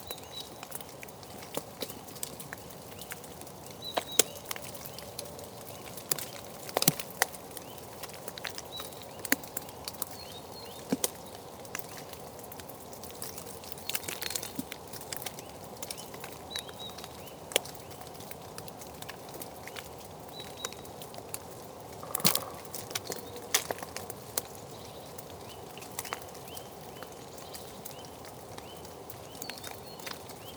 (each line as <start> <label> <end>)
19.5 European Green Woodpecker 30.5
19.6 Common Wood Pigeon 30.5